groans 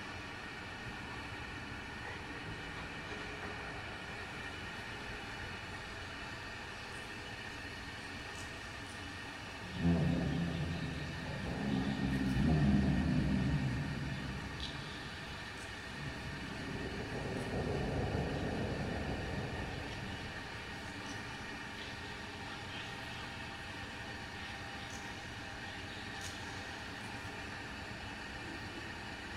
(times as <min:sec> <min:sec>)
0:09.6 0:20.8